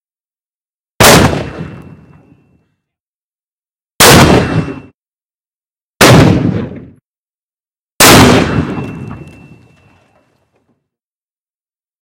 Explosive mortar shell shooting 0:01.0 - 0:02.4
Explosive mortar shell shooting 0:04.0 - 0:05.0
Explosive mortar shell shooting 0:06.0 - 0:07.0
Explosive mortar shell shooting 0:08.0 - 0:10.0

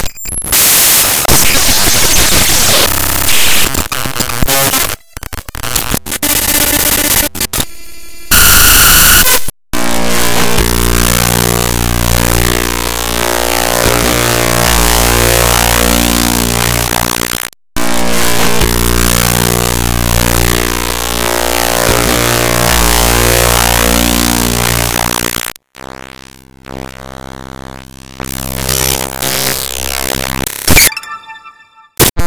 glitches 0:00.0 - 0:07.7
glitches 0:13.5 - 0:25.6
glitches 0:28.2 - 0:32.2

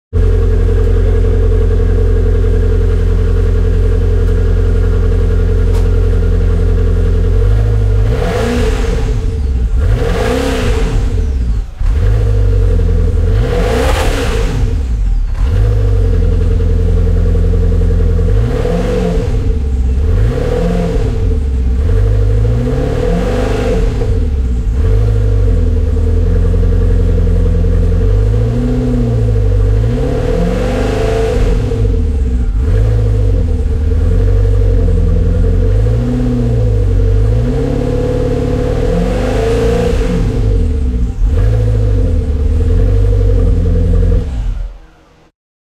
ignition 0:00.1 - 0:45.2
Maserati Exhaust 0:00.1 - 0:45.3

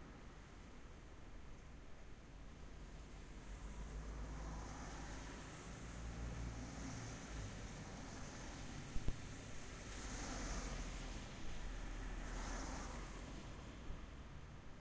Wind 0:00.0 - 0:14.8
rain 0:03.1 - 0:14.1
traffic passing by 0:03.1 - 0:14.8

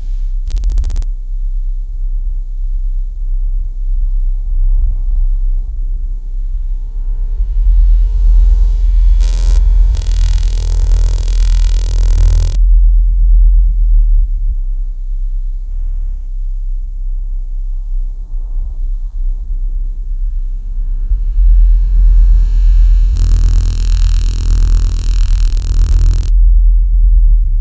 crackle 0:00.0 - 0:01.0
crackle 0:09.2 - 0:12.6
drone 0:09.2 - 0:12.6
crackle 0:23.2 - 0:26.3
drone 0:23.2 - 0:26.3

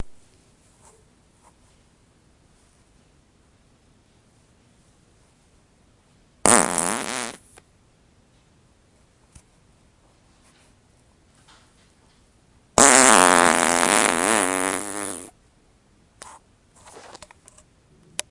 fart 0:06.4 - 0:07.5
fart 0:12.8 - 0:15.4

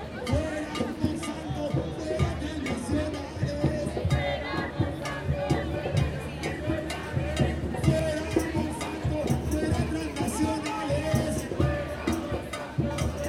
Conversaciones 0:00.0 - 0:13.2
crowd 0:00.0 - 0:13.2

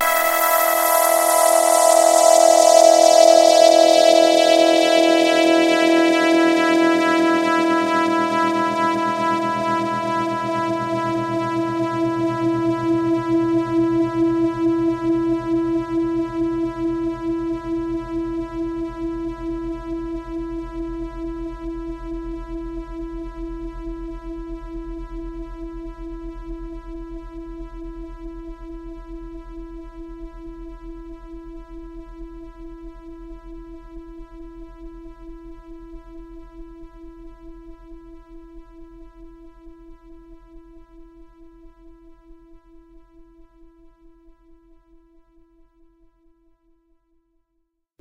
saw wave sound 0:00.0 - 0:05.1

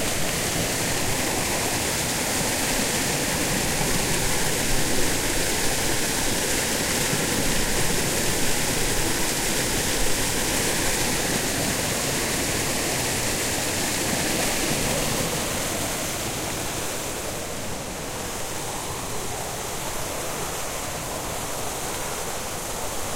fountains 0:00.0 - 0:23.1
water flowing over it 0:00.0 - 0:23.1
carved stone lion heads protruding from it spouting water 0:00.0 - 0:16.8

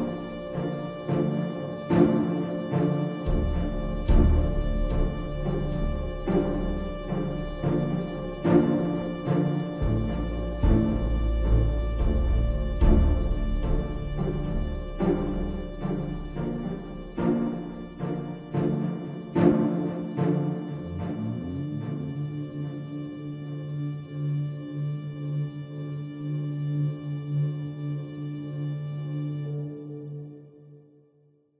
orchestra chords 0:00.0 - 0:26.8

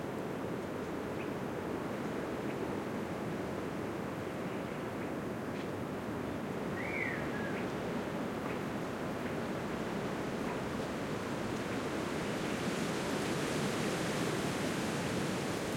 wind 0:00.0 - 0:15.7
birdsong 0:06.8 - 0:07.7

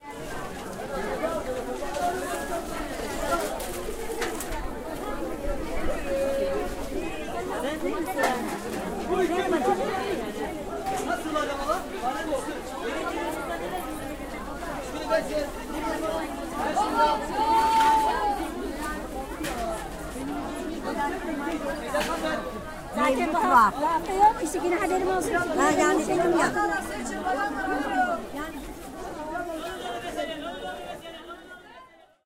Voices 0:00.0 - 0:32.0

